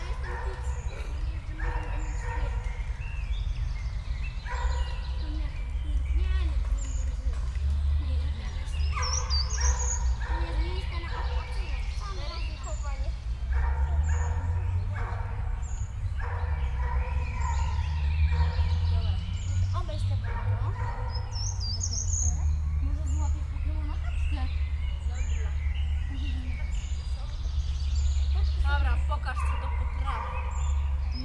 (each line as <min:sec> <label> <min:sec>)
0:00.0 distant rush hur traffic drone 0:31.2